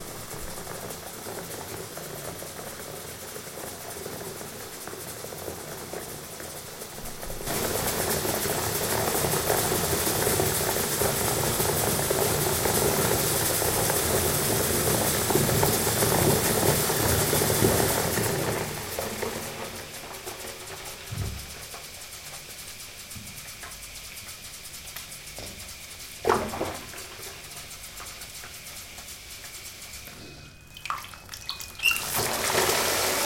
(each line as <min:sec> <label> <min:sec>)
0:30.7 bathtub shower 0:33.2